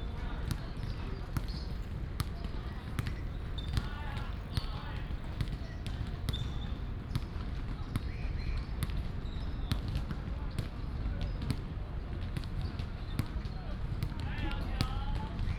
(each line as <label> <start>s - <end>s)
Basketball sounds 1.4s - 7.2s